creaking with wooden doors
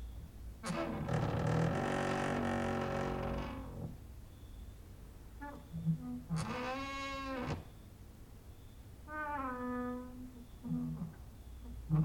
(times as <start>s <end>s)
0.6s 4.0s, 5.4s 7.7s, 9.1s 11.2s